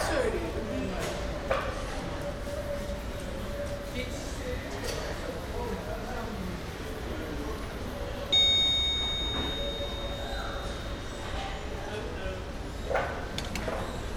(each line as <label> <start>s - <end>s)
elevator 8.3s - 12.0s